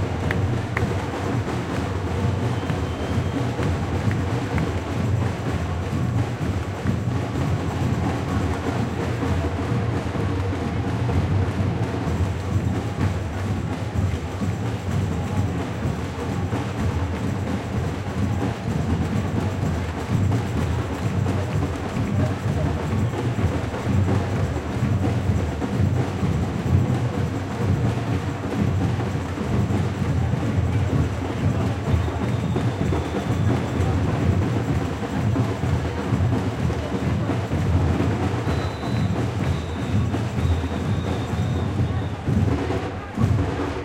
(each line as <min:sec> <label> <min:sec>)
0:00.0 people 0:43.8